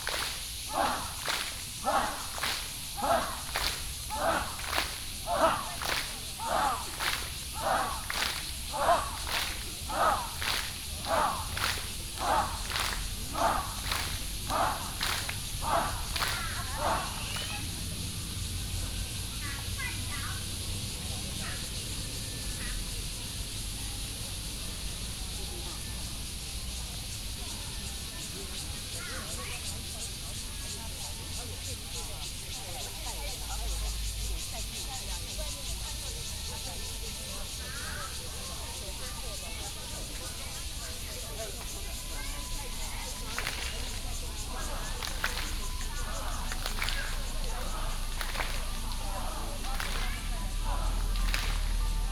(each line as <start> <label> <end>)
0.0 traffic sound 21.3
0.0 Cicada cry 52.1
0.0 Many elderly people doing health exercises 52.1
41.4 traffic sound 52.1